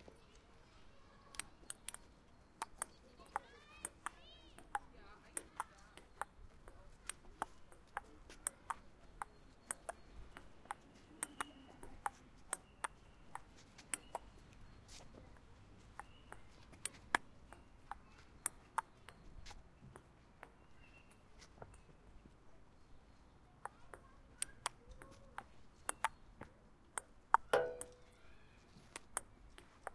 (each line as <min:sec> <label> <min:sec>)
0:00.0 Kids roaming around 0:29.9
0:27.0 Playing tabletennis 0:28.1